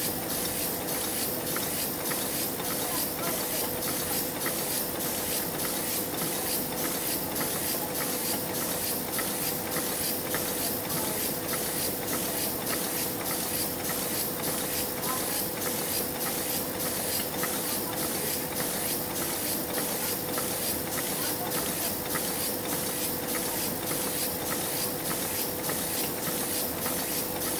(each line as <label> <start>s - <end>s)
book covers being printed 0.2s - 27.5s